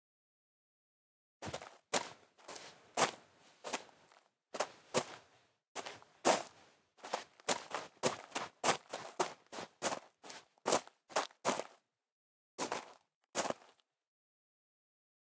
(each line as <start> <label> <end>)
1.4 Footsteps Gravel01 11.8
12.6 Footsteps Gravel01 13.8